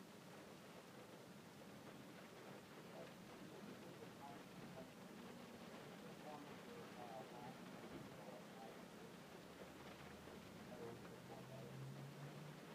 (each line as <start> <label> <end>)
0.0 rain heard inside of a car 12.7
2.7 distant traffic on the surrounding roads going by 12.7
2.8 audible talk-radio in a car parked near by 11.8